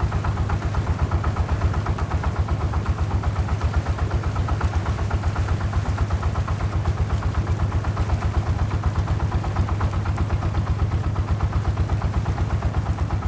Small truck traveling on the sea 0:00.0 - 0:13.2

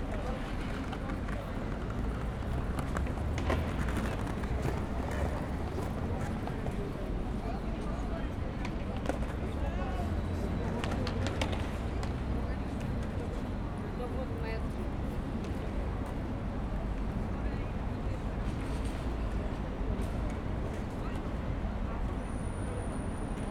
skaters 0:00.0 - 0:13.4
traffic 0:00.0 - 0:23.5

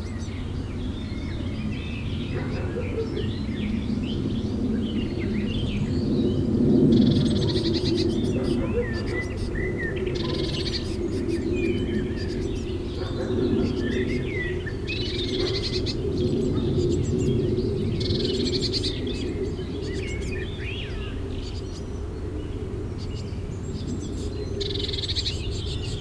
birds 0:00.0 - 0:26.0
mild windy 0:00.0 - 0:26.0

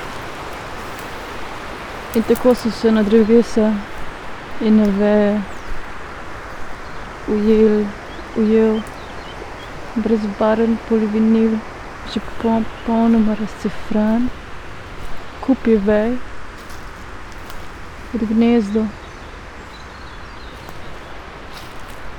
steps 0:00.0 - 0:10.4
river flow 0:00.0 - 0:22.1
words 0:02.2 - 0:04.0
words 0:04.6 - 0:05.6
words 0:07.2 - 0:08.9
words 0:09.9 - 0:14.4
steps 0:11.8 - 0:22.1
words 0:15.4 - 0:16.3
words 0:18.1 - 0:19.0

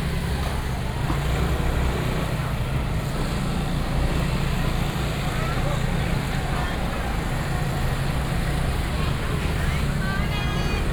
Street vendors selling voice 0:00.0 - 0:10.9
Very noisy market 0:00.0 - 0:10.9
motorcycle sounds 0:00.0 - 0:10.9

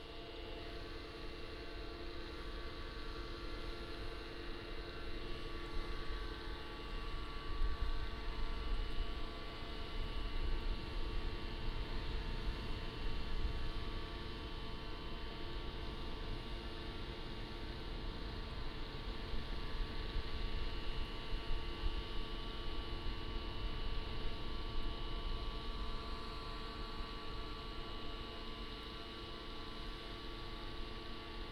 Noise from power plants 0:00.0 - 0:31.5

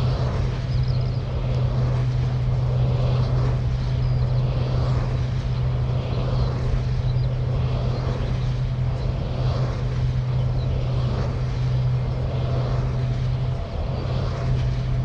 distant skylark 0:00.0 - 0:15.0

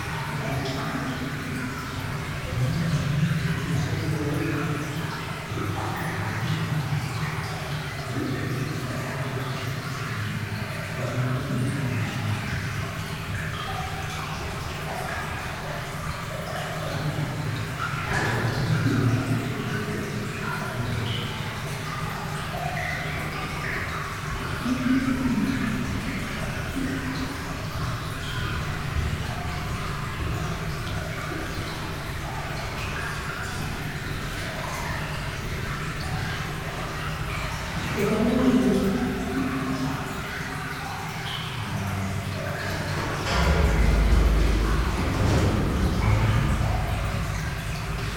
Water is falling in the tunnel 0:00.0 - 0:48.1

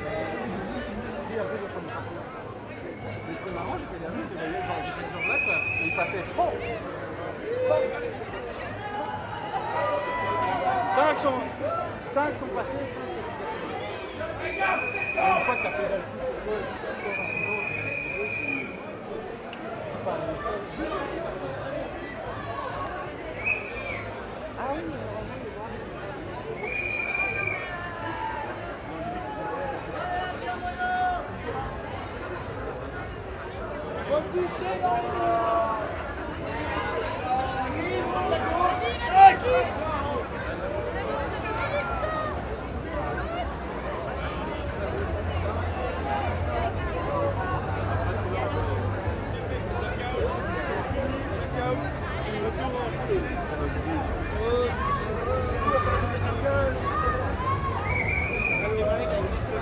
happy people, shouting 0:07.4 - 0:12.0
happy people, shouting 0:36.5 - 0:40.2
happy people, shouting 0:54.3 - 0:59.6

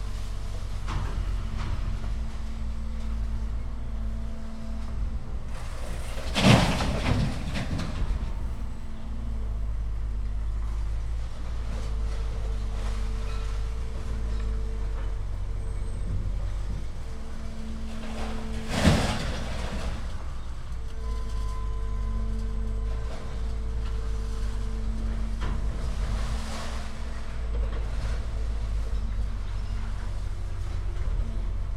big machines are moving tons of metal 0:00.0 - 0:31.7

